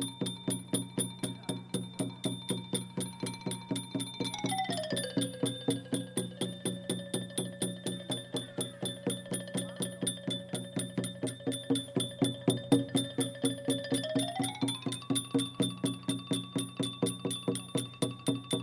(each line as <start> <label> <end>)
0.0 percussion 18.6